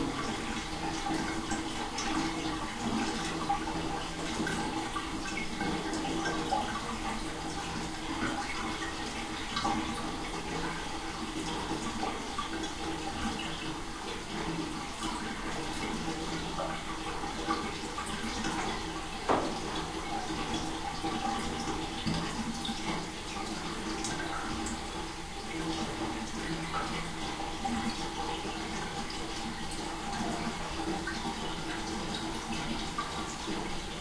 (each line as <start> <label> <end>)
0.0 bathtub being drained 34.0